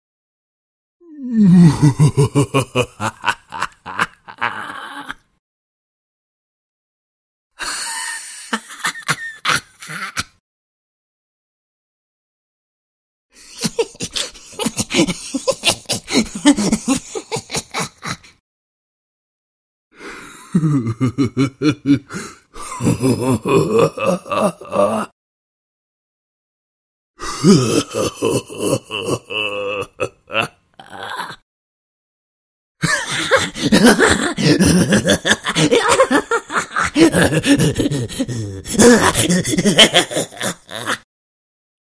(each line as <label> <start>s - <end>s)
evil laughs 1.3s - 5.3s
evil laughs 7.6s - 10.4s
evil laughs 13.4s - 18.4s
evil laughs 20.2s - 25.1s
evil laughs 27.3s - 31.4s
evil laughs 32.8s - 41.1s